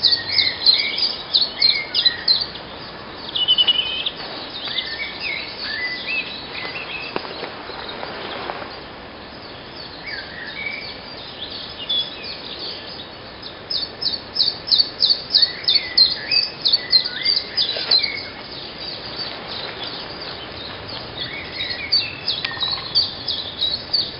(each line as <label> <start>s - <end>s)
blackbird 0.0s - 24.1s
robin 9.4s - 24.1s